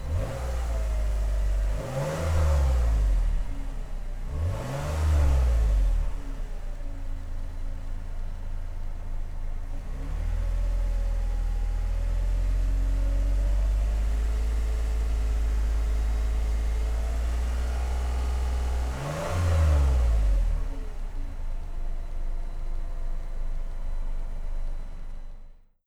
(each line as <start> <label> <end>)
0.0 Toyota Highlander revving 3.4
4.3 Toyota Highlander revving 6.2
17.6 Toyota Highlander revving 20.8